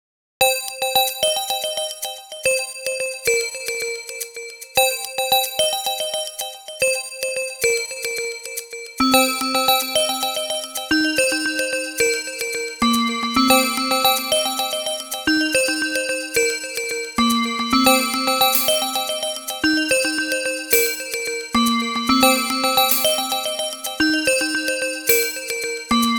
Bells 17.5 - 26.1

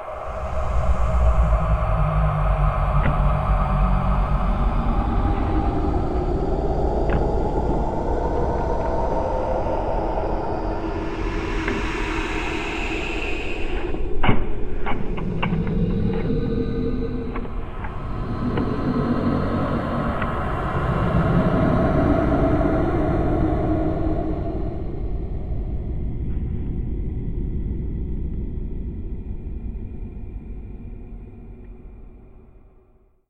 Drone 0.0 - 32.8

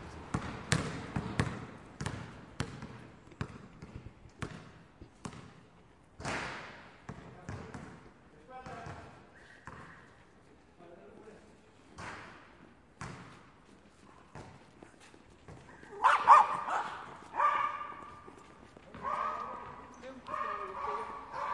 Basketball Players Playing 0.1 - 4.7
Basketball Players Playing 7.1 - 10.2
Basketball Players Playing 11.9 - 21.5

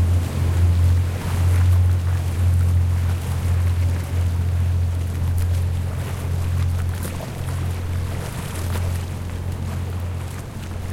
Boat 0.0 - 10.9
Water 0.0 - 10.9

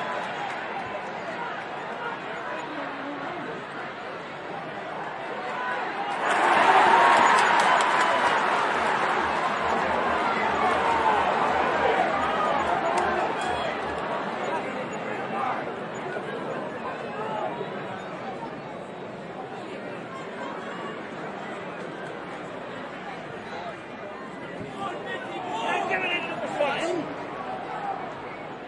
cheers 4.8 - 15.5

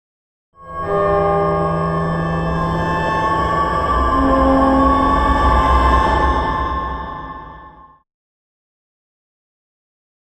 drone 0.6 - 8.0

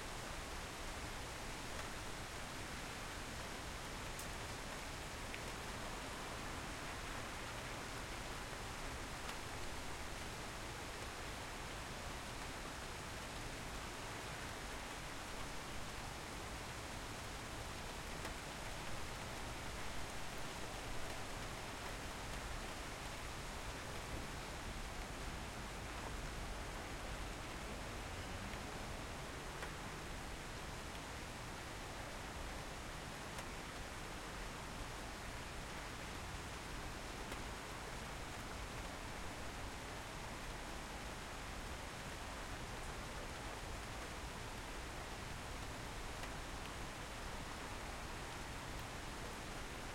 light rain 0.0 - 49.9

